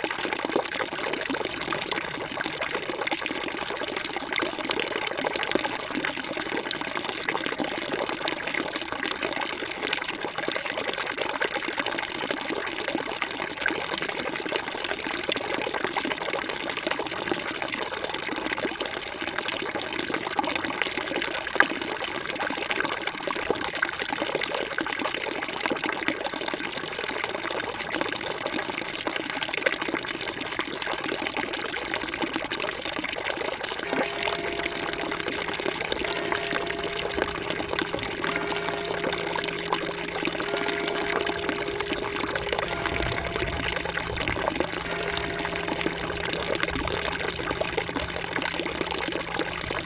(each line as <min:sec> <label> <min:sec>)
0:33.8 l'orage commence à gronder 0:49.8
0:33.8 passage d'un 50cc qui peine dans a côte 0:49.8